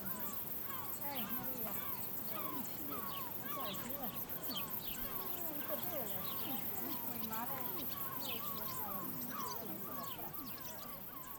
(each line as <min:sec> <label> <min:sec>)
0:00.0 crickets 0:11.3
0:07.7 seagull 0:11.3